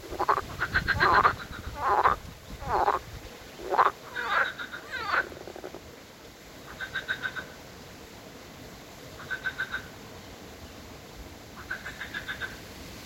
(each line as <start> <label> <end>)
0.0 Croaking frogs in a pond 6.0
6.6 Croaking frogs in a pond 7.6
9.2 Croaking frogs in a pond 10.0
11.5 Croaking frogs in a pond 12.6